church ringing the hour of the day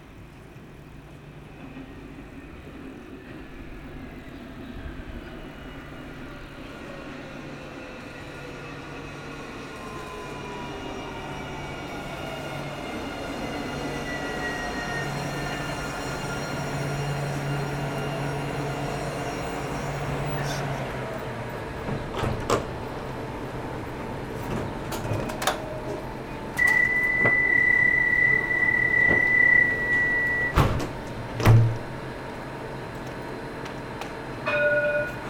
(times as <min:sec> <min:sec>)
0:34.4 0:35.2